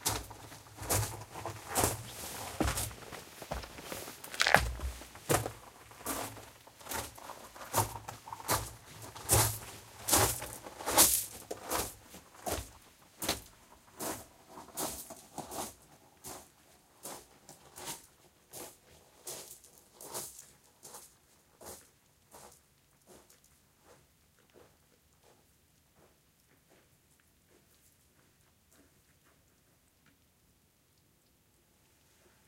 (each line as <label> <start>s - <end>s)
Walking with boots on gravel 0.0s - 14.2s